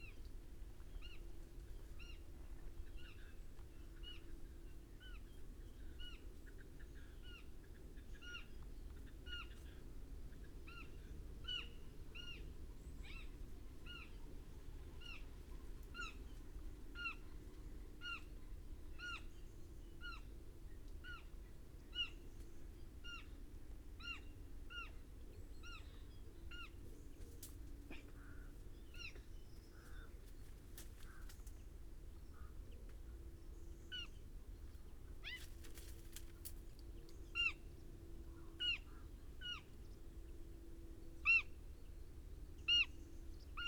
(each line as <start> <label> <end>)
24.0 pheasant 40.0
31.0 crow 31.5